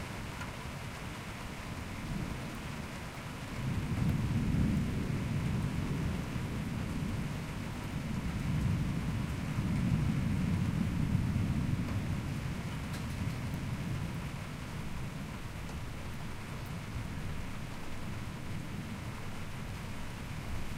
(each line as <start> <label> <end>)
0.0 Heavy Rain 20.7
3.5 hail 20.7
3.6 thunder 14.7